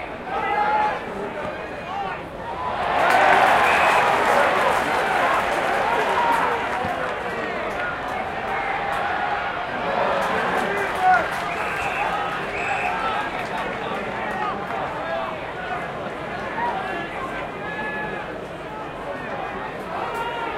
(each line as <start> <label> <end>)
0.0 supporters 18.2